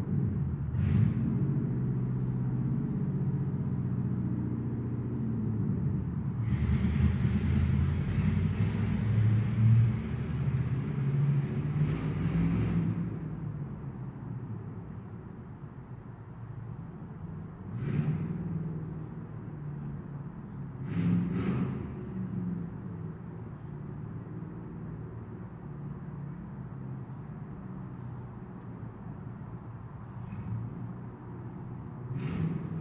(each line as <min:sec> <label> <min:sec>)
0:00.0 revs the engine 0:13.7
0:00.0 car with a loud exhaust drives through my neighborhood 0:32.8
0:17.6 revs the engine 0:19.8
0:20.4 revs the engine 0:25.3
0:28.6 revs the engine 0:32.8